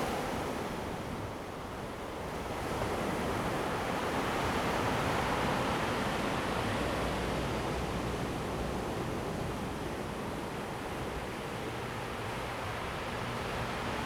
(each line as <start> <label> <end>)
0.0 waves 14.0